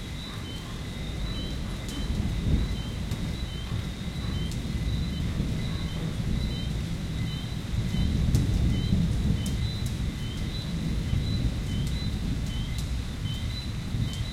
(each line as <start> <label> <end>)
0.0 crickets 14.3
0.0 rain 14.3
0.0 frogs 14.3
1.2 thunder 14.3